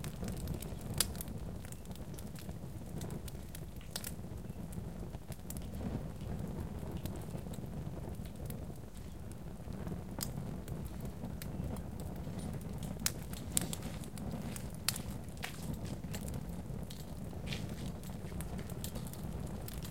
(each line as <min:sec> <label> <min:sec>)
0:00.0 small fire crackling 0:19.9
0:12.3 light footsteps 0:16.3
0:16.9 light footsteps 0:19.2